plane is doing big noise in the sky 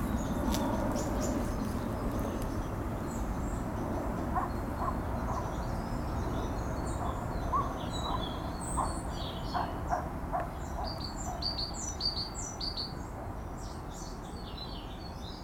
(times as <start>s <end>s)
0.0s 7.2s